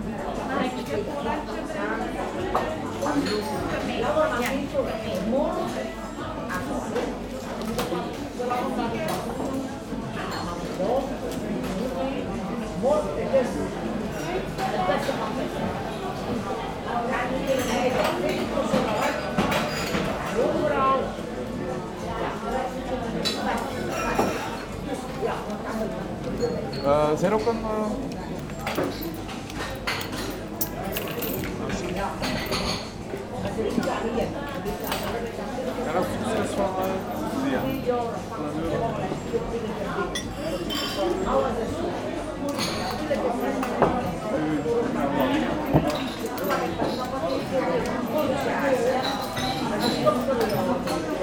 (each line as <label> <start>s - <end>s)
many elderly people having a good time 0.0s - 51.2s